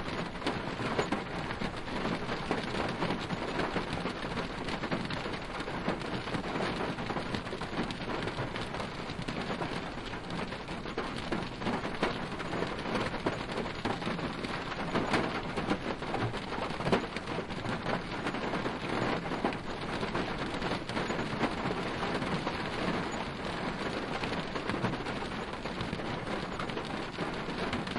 Rain from inside car 0:00.0 - 0:27.9

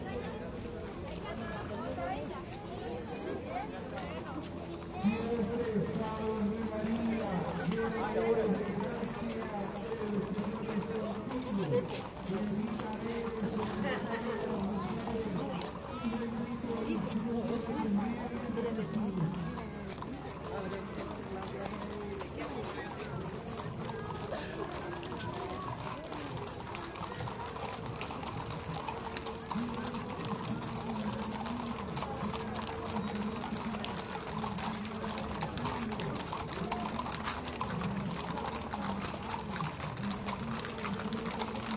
Horses on pavement 0:00.0 - 0:41.7
voices 0:00.0 - 0:41.7

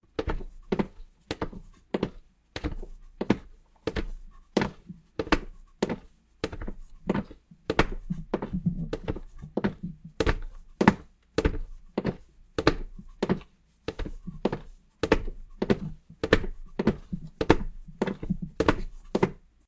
Walking with slipper on the wooden ground 0:00.1 - 0:19.4

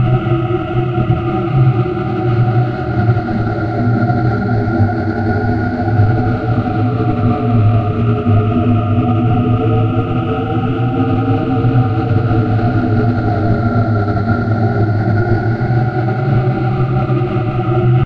continuous high wind 0:00.0 - 0:18.0

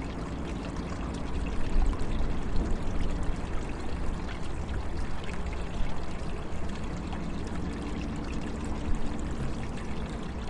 water flow between rolls 0:00.0 - 0:10.4

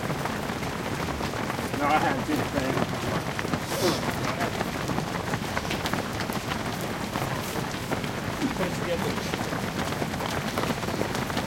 footsteps 0:00.0 - 0:11.4
talk 0:01.7 - 0:04.7
talk 0:08.4 - 0:09.4

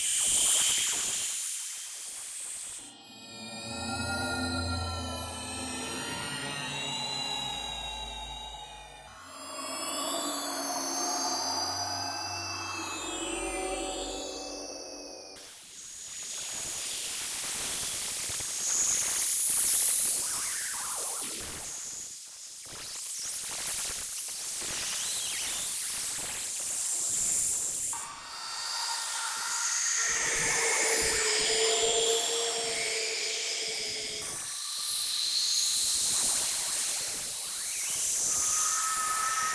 higher frequency screams & space noises 0:02.8 - 0:15.4
space drone 0:02.8 - 0:15.4
higher frequency screams & space noises 0:28.0 - 0:39.5
space drone 0:28.0 - 0:39.5

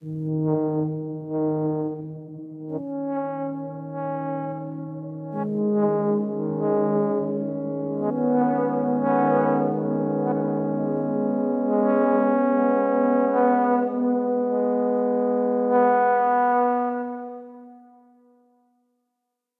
tuba fanfarre 0:00.0 - 0:17.9

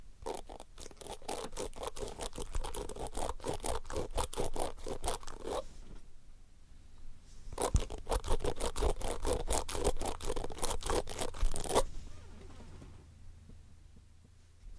Flicking the teeth of a brush 0:00.2 - 0:05.6
Flicking the teeth of a brush 0:07.6 - 0:11.8

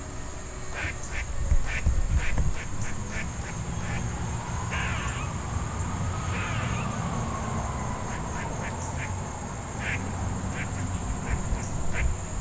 crickets 0:00.0 - 0:12.4
birds 0:00.5 - 0:12.4
squirrel ( I think it was a female) making some loud noises 0:00.7 - 0:05.4
fire engines 0:02.7 - 0:12.4
cars 0:02.8 - 0:12.4
squirrel ( I think it was a female) making some loud noises 0:06.2 - 0:07.0
squirrel ( I think it was a female) making some loud noises 0:07.9 - 0:12.2

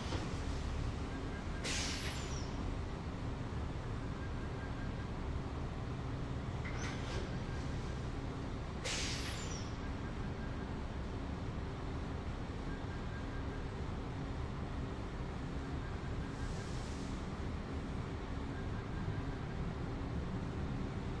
steam release 0:01.6 - 0:02.4
steam release 0:08.8 - 0:09.6

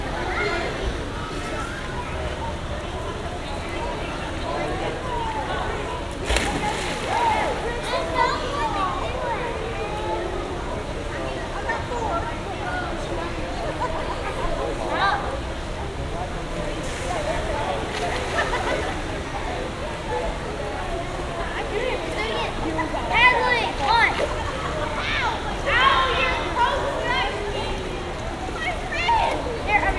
Kids playing in a pool 0:00.0 - 0:29.9
walla 0:00.0 - 0:29.9
Splashing 0:06.0 - 0:09.3
Splashing 0:16.8 - 0:20.1

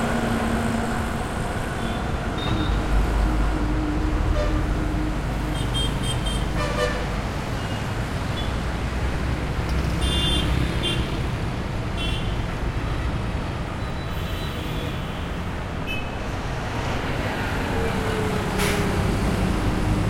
vehicles 0:00.0 - 0:20.0

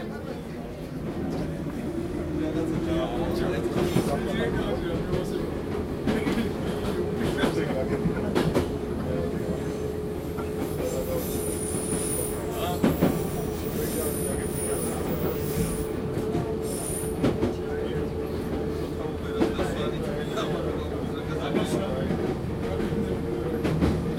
metro 0:00.0 - 0:24.1

